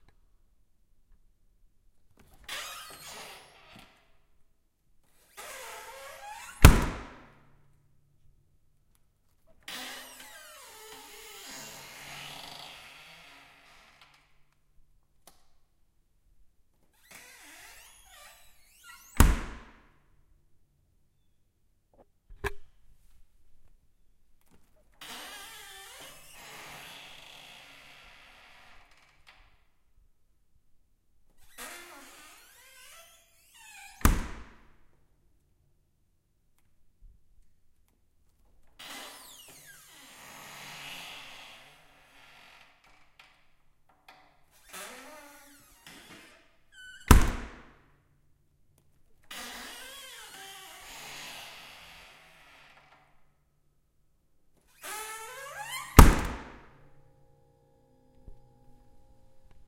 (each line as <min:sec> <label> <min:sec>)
0:06.6 Freezer Door 0:07.2
0:19.2 Freezer Door 0:19.7
0:47.1 Freezer Door 0:47.6
0:55.6 Freezer Door 0:56.6